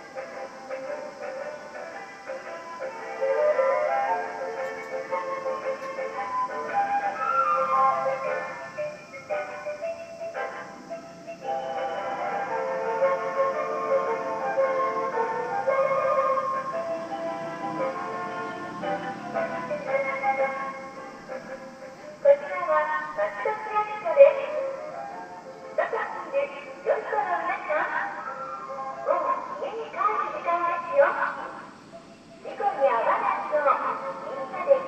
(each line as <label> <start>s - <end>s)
Tannoy announcement 22.2s - 24.9s
Tannoy announcement 25.8s - 28.3s
Tannoy announcement 28.9s - 31.7s
Tannoy announcement 32.4s - 34.8s